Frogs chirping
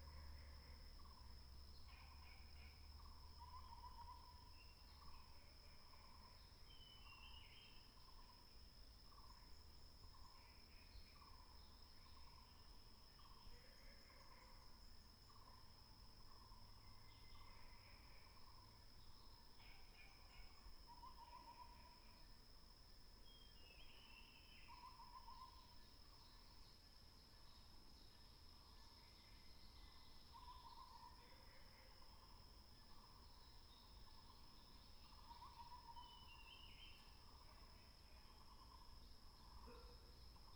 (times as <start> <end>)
9.1 40.5